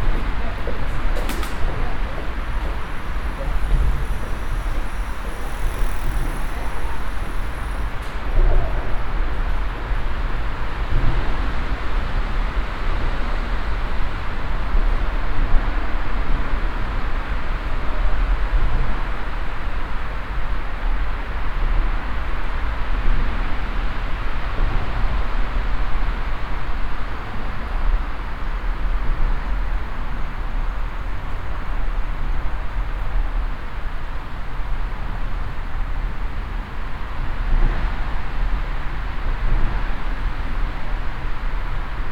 people 0:00.0 - 0:10.0

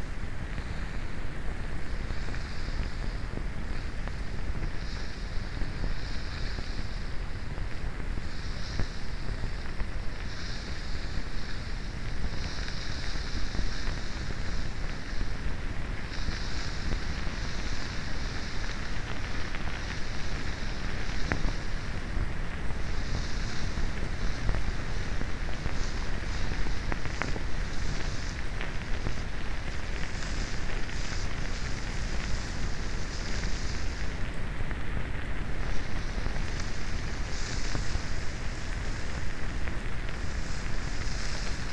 sand bruising sounds 0:22.8 - 0:34.4
sand bruising sounds 0:35.6 - 0:41.7

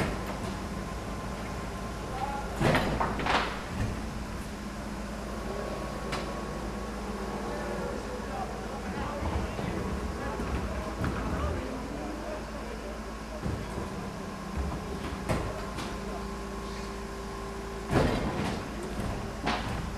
Trash Pickup Lorry 0:00.0 - 0:19.9

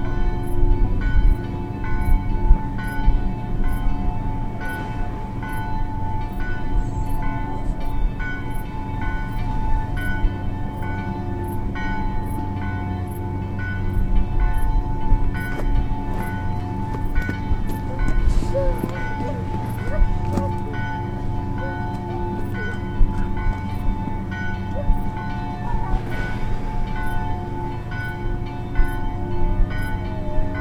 bells 0:00.0 - 0:30.6

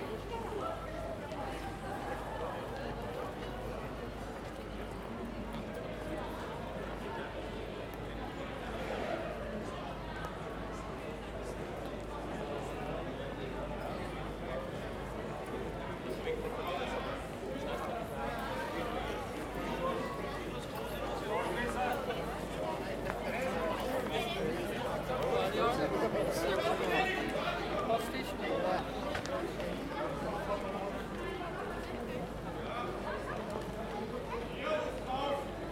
People walking through this passage 0:00.0 - 0:35.7

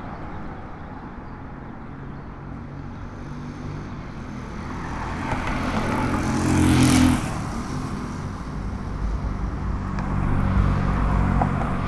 vehicles passing 0:00.0 - 0:11.8

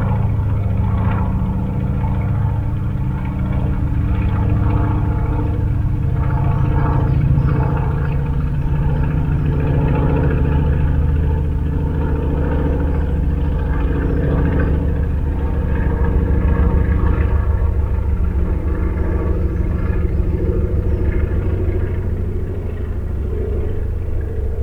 slow-revving engine echoes from the hills 0:00.0 - 0:24.6

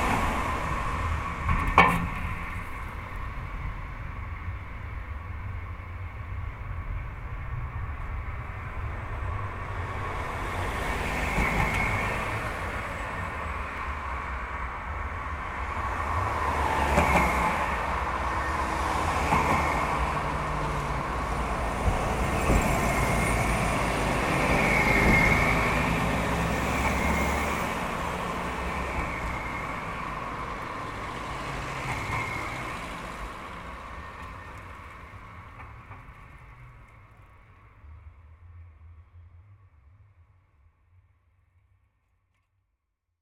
Traffic going over the bridge 0:00.0 - 0:40.4

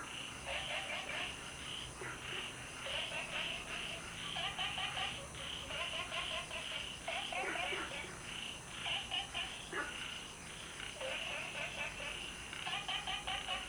Frogs chirping 0:00.0 - 0:13.6

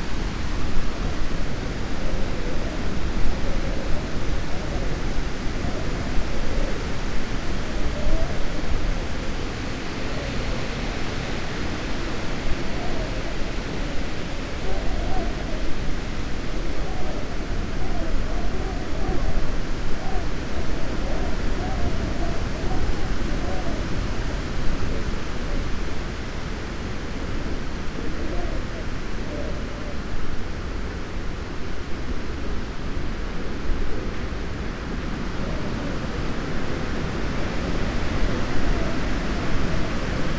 howling wind 0:00.0 - 0:40.3

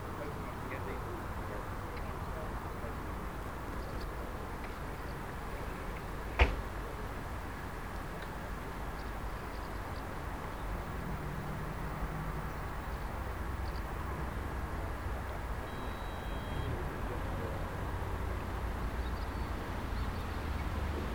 wind rustling the bushes 0:00.0 - 0:16.0
people relaxing 0:00.0 - 0:21.1
pleasure boats 0:00.0 - 0:21.1

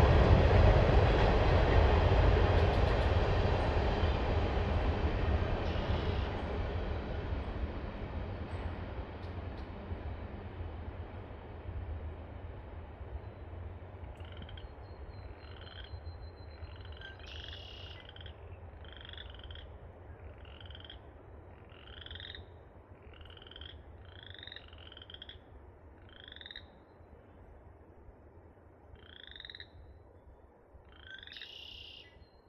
Passing train 0:00.0 - 0:32.4
frog chorus 0:14.1 - 0:26.9
frog chorus 0:28.9 - 0:30.0
frog chorus 0:30.8 - 0:32.2

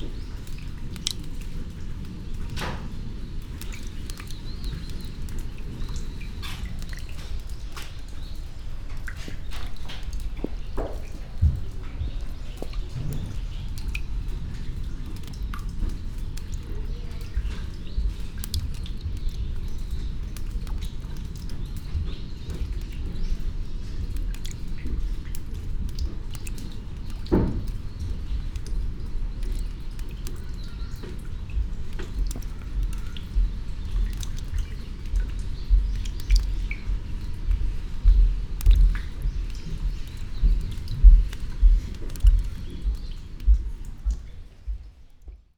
rain drops onto stones and rainwater 0:00.0 - 0:45.5
steps 0:06.6 - 0:13.9
steps 0:31.1 - 0:45.5

